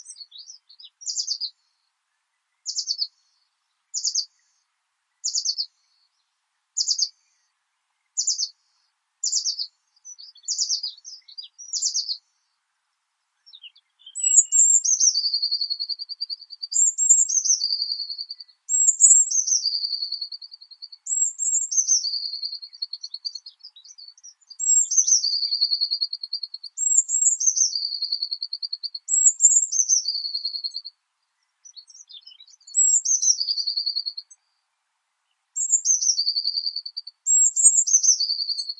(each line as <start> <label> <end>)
0.0 birds 38.7